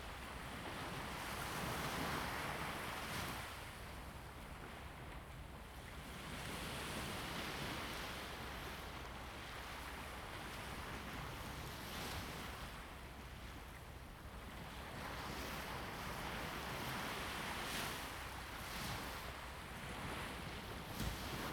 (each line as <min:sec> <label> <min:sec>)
0:05.8 Waves 0:21.5